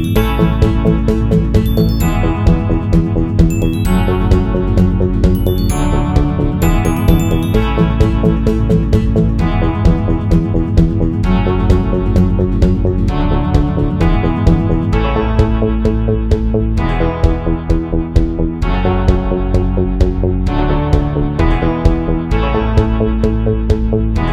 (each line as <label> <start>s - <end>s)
glockenspiel 0.0s - 8.9s
drum 0.0s - 15.6s
bass 0.0s - 24.3s
guitar 0.0s - 24.3s
piano 0.0s - 24.3s
drum 16.3s - 22.1s